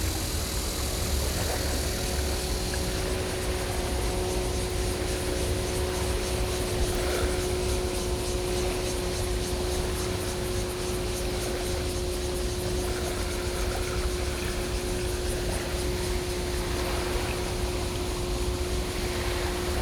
0.0s Cicada sounds 19.8s
0.0s Tide 19.8s

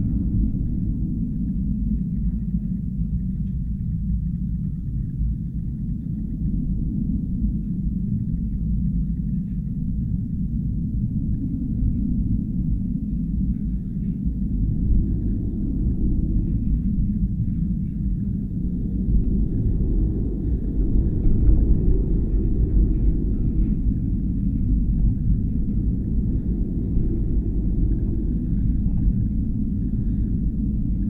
11.0s fence drone 31.0s

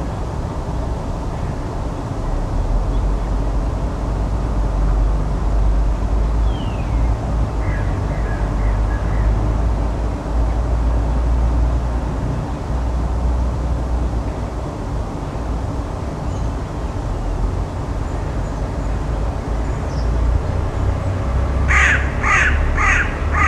0.0s noise of the huge twenty lane highway 23.4s
21.7s Crows 23.4s

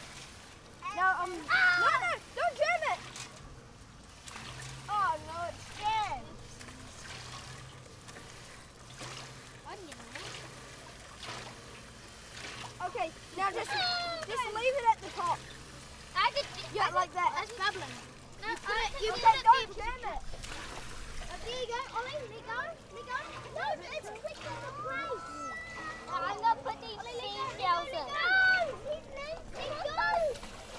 0.0s Kids playing with water pump, auger, metal dams 30.7s

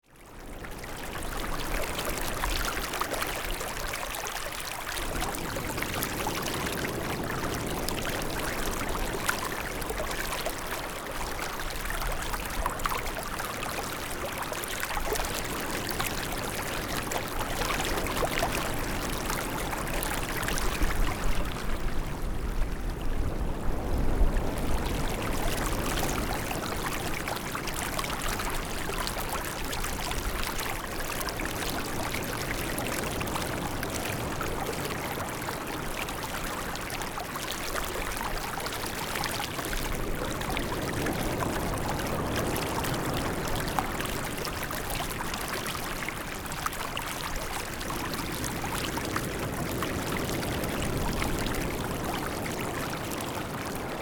0.0s waves 54.0s

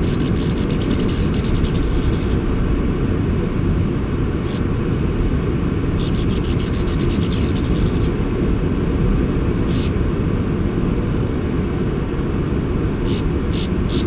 0.0s sand martins under the cliff 2.6s
0.0s background noise of waves 14.0s
4.3s sand martins under the cliff 4.8s
5.8s sand martins under the cliff 8.7s
9.4s sand martins under the cliff 10.2s
12.1s sand martins under the cliff 14.0s

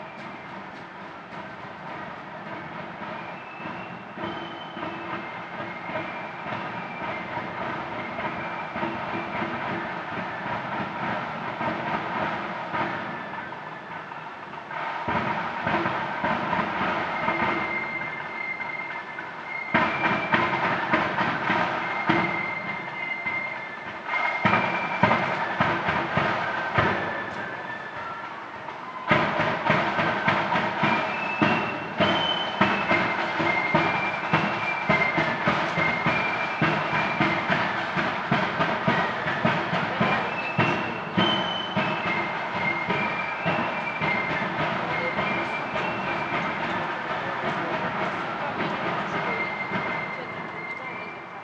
0.0s chatter 51.4s
0.0s drums 51.4s
0.0s flutes 51.4s
0.0s marching 51.4s
0.0s vehicles 51.4s
0.0s whistles 51.4s

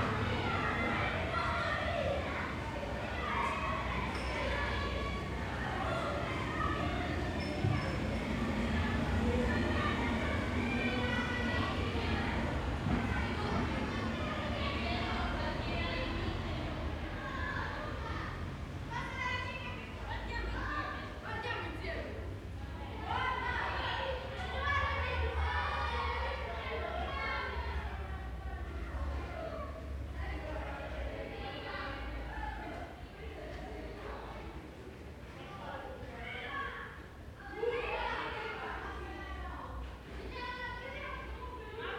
0.0s passers-by 21.2s
0.0s Children playing in the alleyways 41.9s

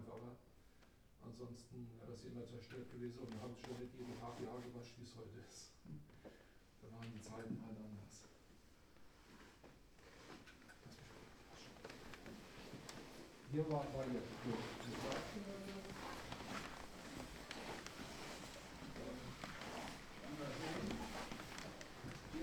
9.0s visitors on the spiral stairs 22.4s

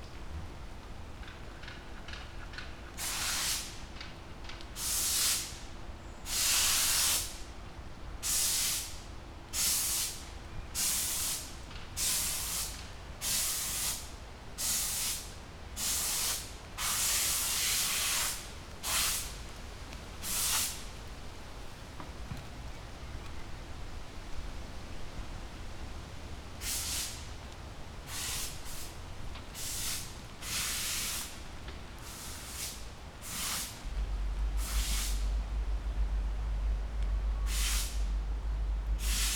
15.8s man washing a car with power washer 19.2s

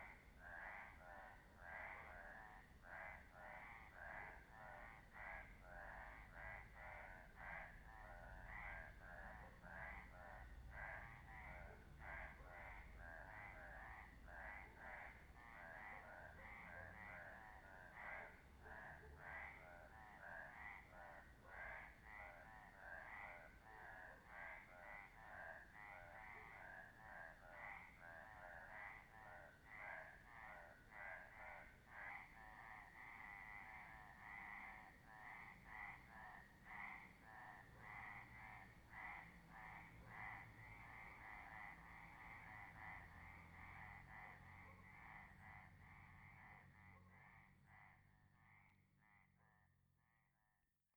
0.0s frogs at night 50.9s

